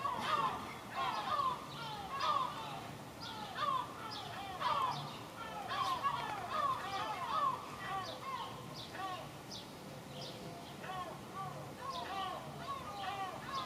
0.0s Seagulls 9.2s

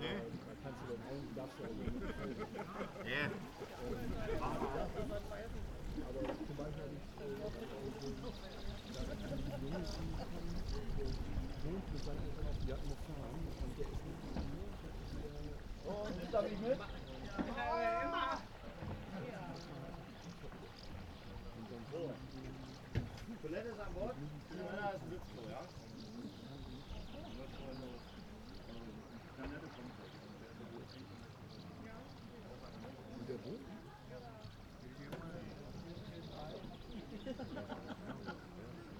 11.6s man invites people 19.9s

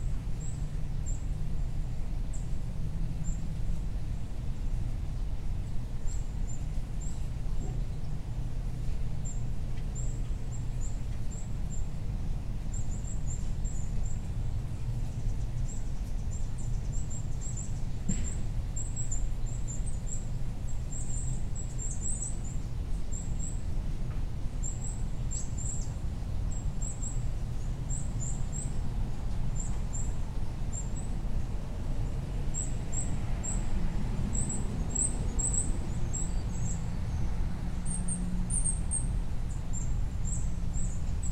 0.0s vehicles 41.3s
9.2s birds 23.7s
24.6s birds 31.3s
34.3s birds 41.3s

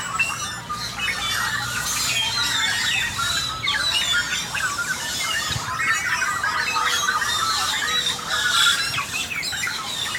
0.0s tilingo birds 10.1s

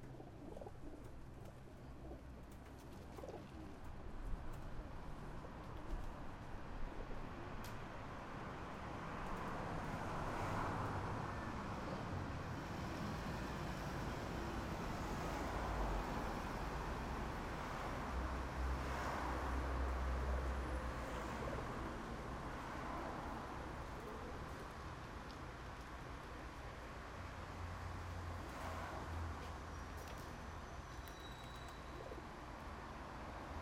0.0s Pigeons Invasion 6.2s
31.3s Pigeons Invasion 32.4s

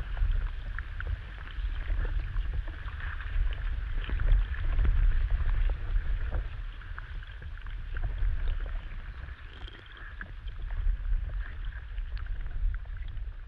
0.0s river 13.4s

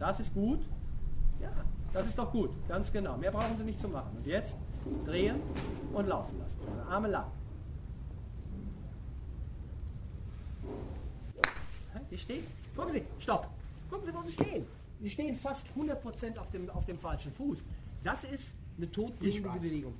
1.4s anweisungen des trainers 7.4s

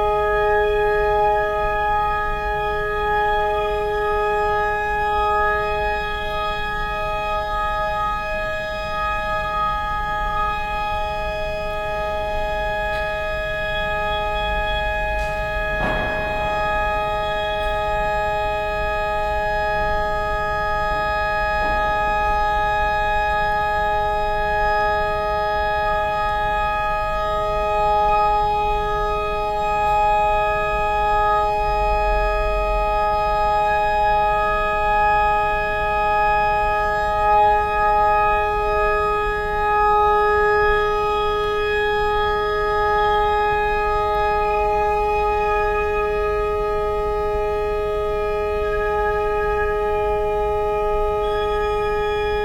12.9s organ tuning 01 20.2s

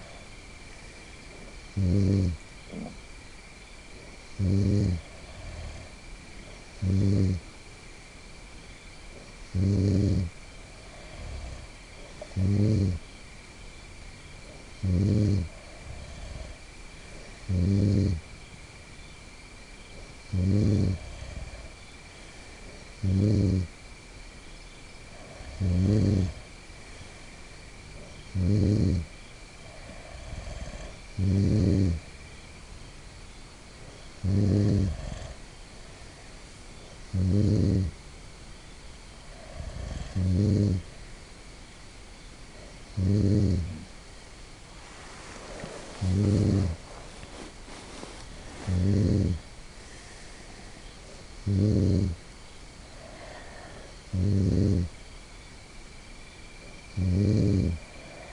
0.0s Friend Snoring in Tent 7.6s
9.1s Friend Snoring in Tent 13.2s
14.3s Friend Snoring in Tent 18.6s
19.8s Friend Snoring in Tent 23.8s
25.0s Friend Snoring in Tent 32.3s
33.7s Friend Snoring in Tent 38.0s
39.1s Friend Snoring in Tent 41.0s
42.5s Friend Snoring in Tent 44.1s
44.8s Friend Snoring in Tent 55.0s
56.5s Friend Snoring in Tent 58.3s

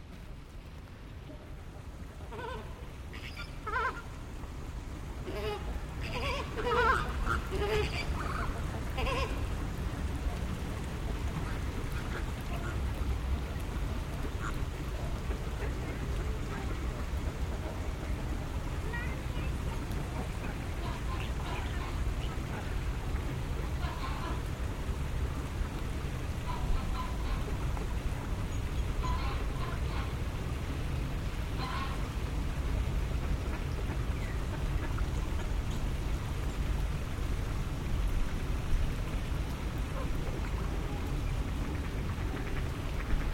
1.2s flamingos 4.3s
1.2s ducks 4.4s
5.2s ducks 25.0s
5.2s flamingos 32.3s
25.6s ducks 30.7s
31.4s ducks 36.5s
39.2s flamingos 43.3s
39.8s ducks 43.3s

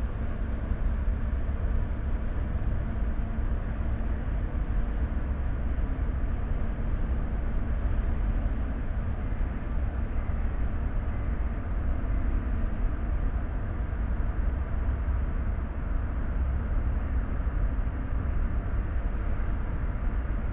0.0s Large container-harbour crane and associated machinery moving 20.5s

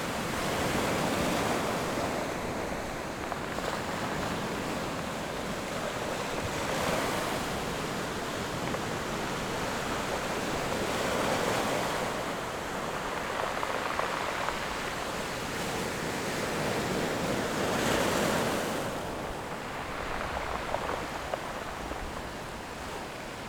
0.0s waves 23.4s

